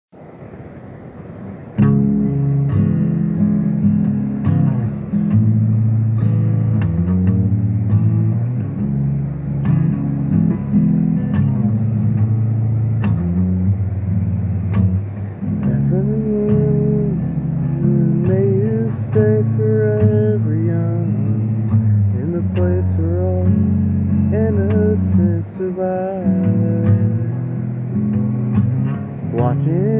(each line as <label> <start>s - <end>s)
guitar 0.6s - 29.9s